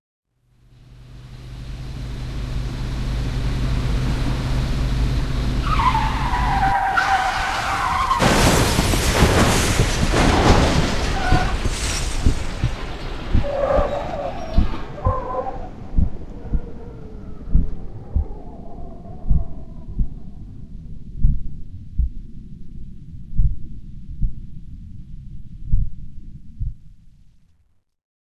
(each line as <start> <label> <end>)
5.6 Car crash 16.4
12.2 slowing heartbeat 27.1